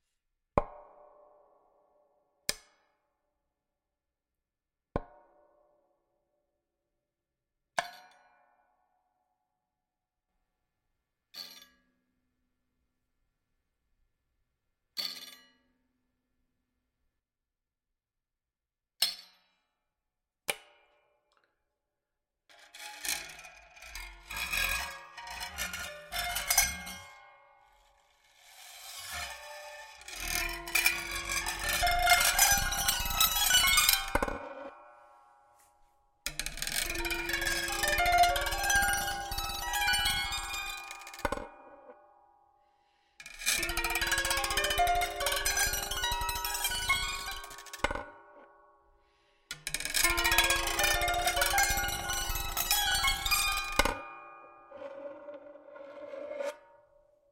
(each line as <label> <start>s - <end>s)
modified auto-harp with bowed effects 22.8s - 27.9s
modified auto-harp with bowed effects 28.9s - 34.9s
modified auto-harp with bowed effects 36.4s - 41.6s
modified auto-harp with bowed effects 43.4s - 47.9s
modified auto-harp with bowed effects 49.9s - 56.8s